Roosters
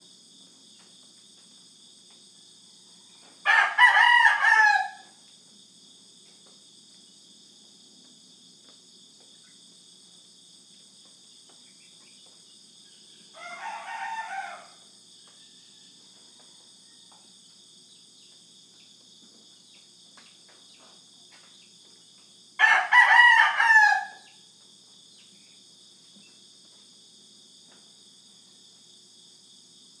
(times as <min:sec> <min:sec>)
0:02.6 0:05.2, 0:11.6 0:17.4, 0:22.6 0:24.6